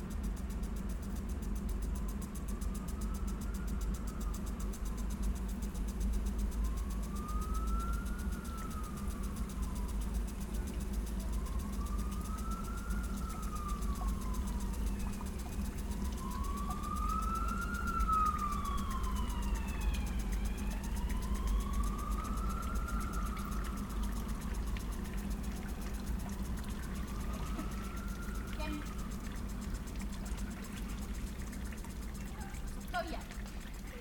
water 0:00.0 - 0:34.0

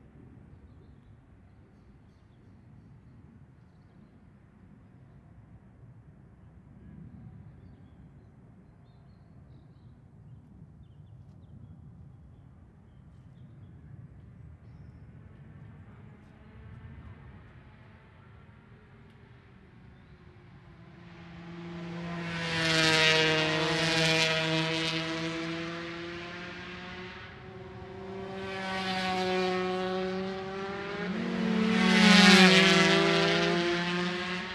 british superbikes 0:20.1 - 0:34.5

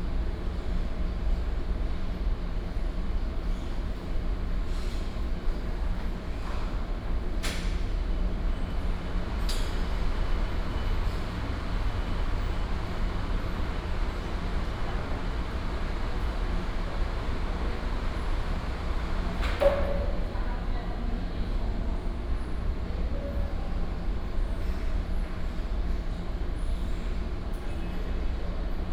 air conditioning 0:00.0 - 0:28.9

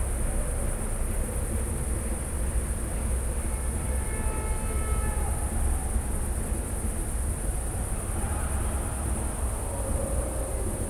distant sounds from the soccer arena 0:07.4 - 0:10.8

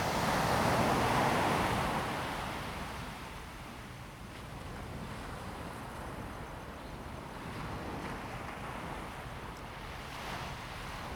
waves 0:07.1 - 0:11.1

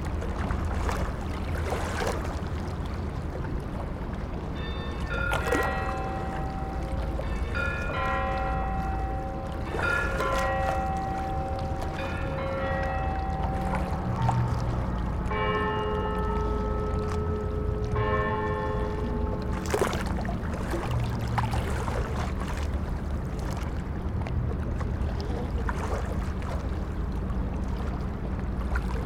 ships' engines 0:00.0 - 0:29.0
waves splashing 0:00.0 - 0:29.0
bells 0:04.4 - 0:20.5

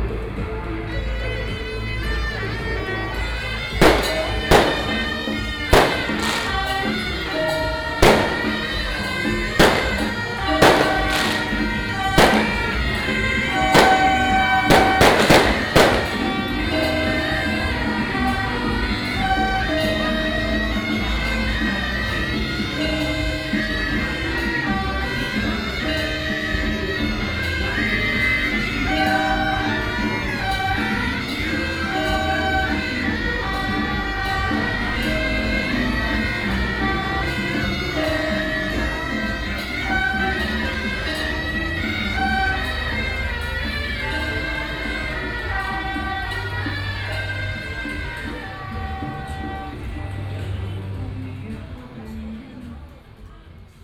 firecrackers 0:02.3 - 0:50.0
Fireworks 0:03.7 - 0:17.4

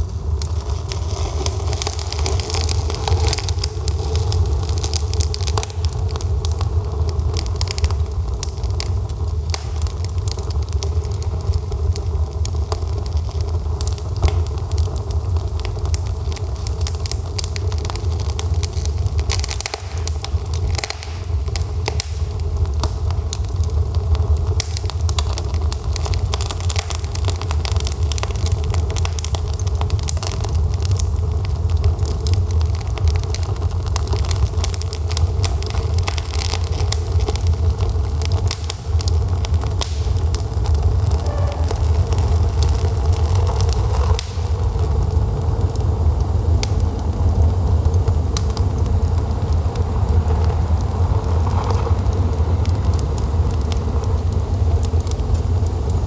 Stove 0:00.0 - 0:56.0

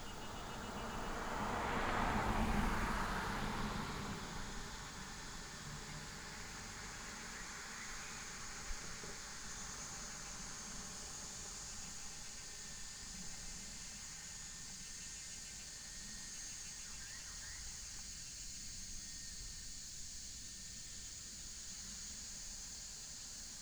Cicada cry 0:00.0 - 0:02.5
Traffic sound 0:00.0 - 0:08.4

